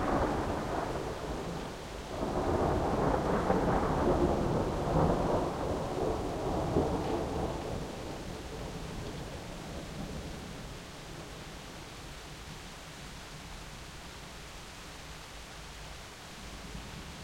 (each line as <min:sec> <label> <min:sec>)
0:00.0 thunderclap 0:09.0
0:00.0 rain 0:17.2